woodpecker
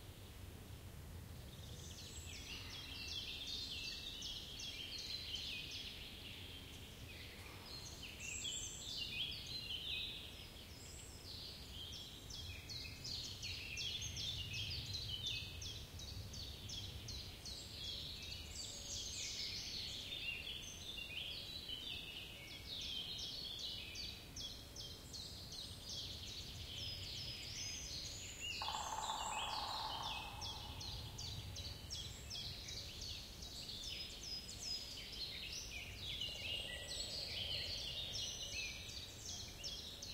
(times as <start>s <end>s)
28.6s 31.2s